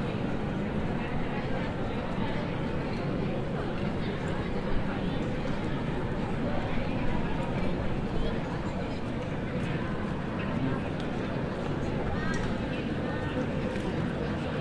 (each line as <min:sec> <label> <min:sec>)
0:00.0 People talking in the background 0:14.6